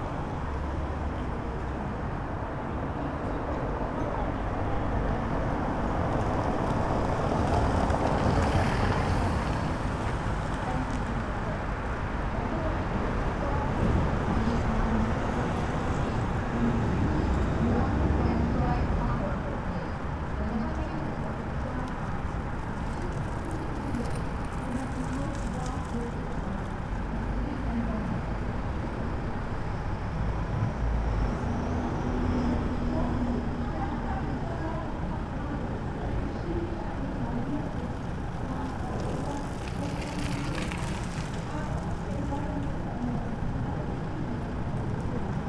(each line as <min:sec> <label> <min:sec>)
0:00.0 pedestrians 0:45.4
0:00.1 Cyclists 0:45.4